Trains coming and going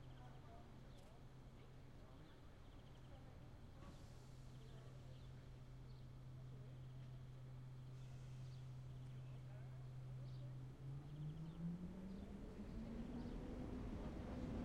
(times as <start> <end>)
10.7 14.6